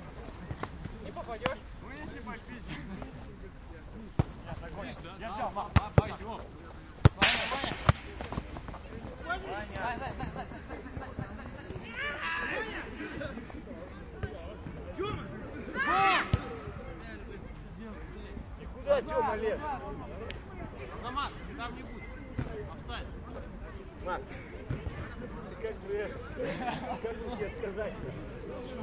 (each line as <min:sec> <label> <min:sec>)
0:00.0 City noise 0:28.8
0:00.0 Men play soccer 0:28.8
0:07.0 Hit the ball to the fence 0:08.4